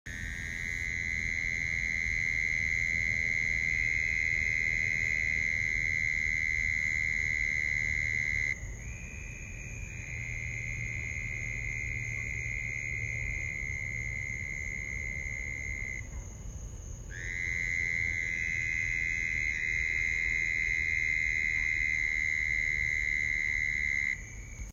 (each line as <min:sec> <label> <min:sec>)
0:00.1 little croaking frogs 0:16.4
0:17.1 little croaking frogs 0:24.7